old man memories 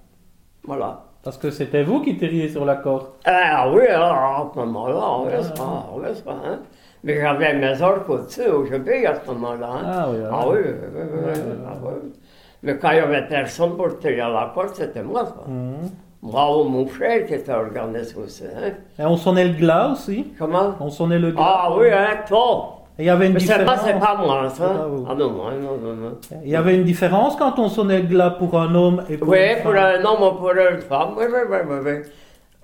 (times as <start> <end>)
3.2 12.2